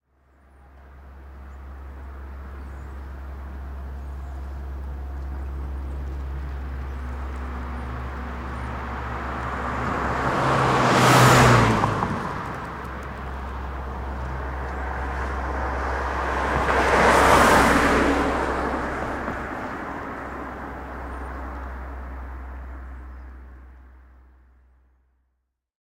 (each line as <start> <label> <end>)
0.1 car 25.6